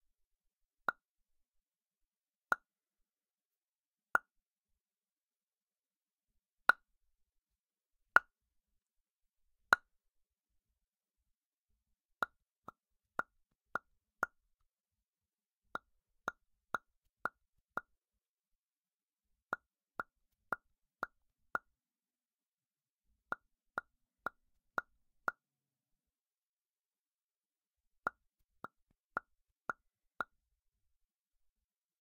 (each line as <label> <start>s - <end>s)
single and multiple popping noises 28.1s - 30.4s